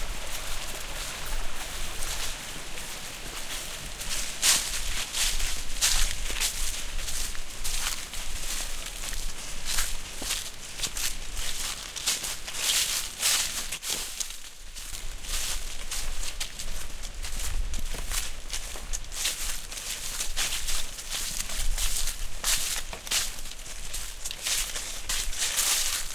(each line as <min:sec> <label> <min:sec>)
0:00.0 splashing water 0:13.7
0:00.0 Footsteps in Dry Leaves 0:26.1